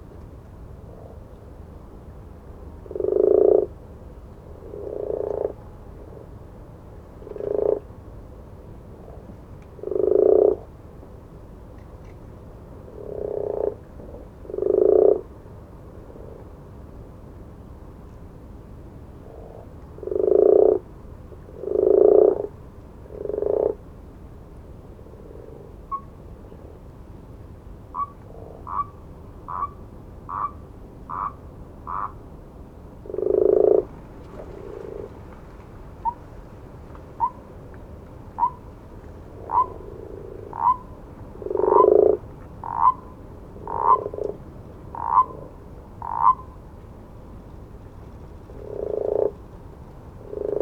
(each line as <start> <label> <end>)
0.8 frogs or toads 1.4
2.8 frogs or toads 3.8
4.5 frogs or toads 6.4
7.2 frogs or toads 7.9
9.8 frogs or toads 10.8
12.8 frogs or toads 15.4
19.2 frogs or toads 20.9
21.5 frogs or toads 23.8
25.0 frogs or toads 26.2
27.9 frogs or toads 32.2
28.0 distant owls 32.2
33.0 frogs or toads 36.3
33.1 distant owls 37.6
37.2 frogs or toads 37.5
38.3 distant owls 38.7
38.4 frogs or toads 38.7
39.3 frogs or toads 46.6
39.3 distant owls 44.2
45.0 distant owls 46.5
48.4 frogs or toads 49.5
50.2 frogs or toads 50.6